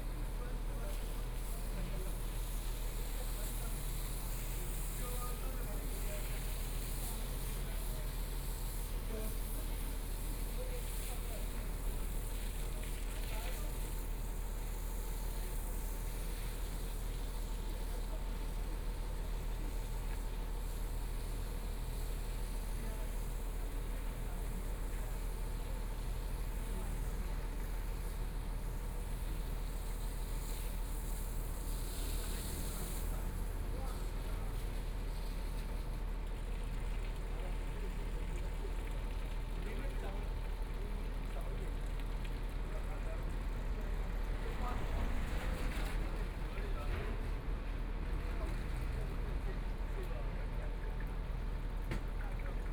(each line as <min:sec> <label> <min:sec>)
0:43.2 Construction Sound 0:49.5
0:43.2 Traffic Sound 0:49.8